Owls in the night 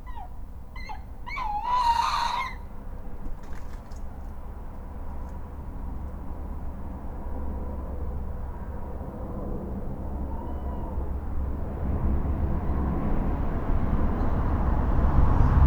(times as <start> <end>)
0.0 5.8, 9.6 11.7